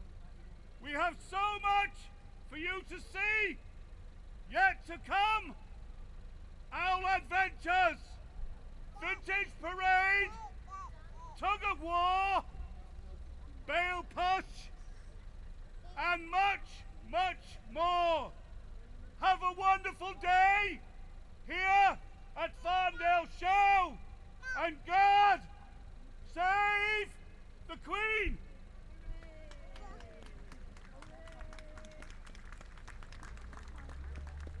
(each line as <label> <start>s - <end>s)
Town crier 0.0s - 30.4s